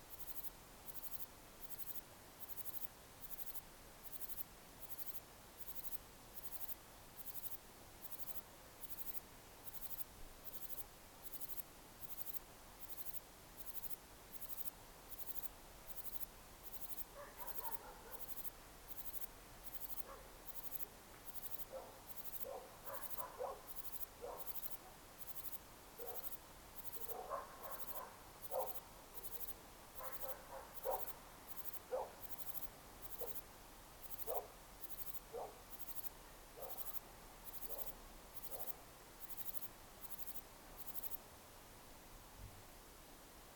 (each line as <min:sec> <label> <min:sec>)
0:00.0 white noise of traffic on the road 0:43.5
0:17.2 dogs barking 0:18.2
0:21.7 dogs barking 0:24.5
0:27.1 dogs barking 0:28.8